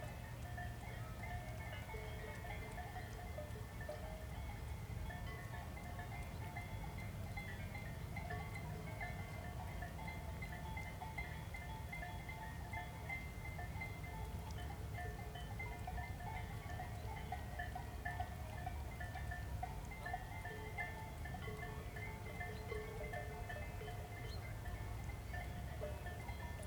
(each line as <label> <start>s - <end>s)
distant cow bells 0.0s - 26.6s